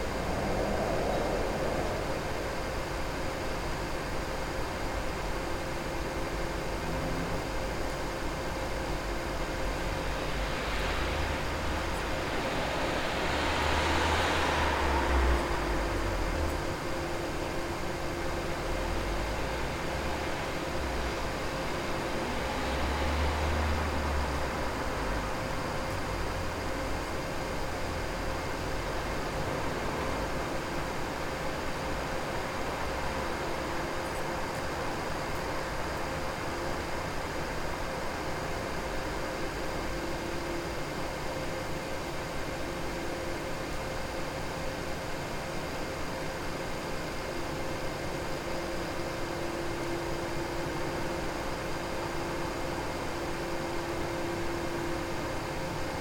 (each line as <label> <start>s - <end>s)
Distant traffic 0.0s - 4.4s
Distant traffic 8.5s - 26.9s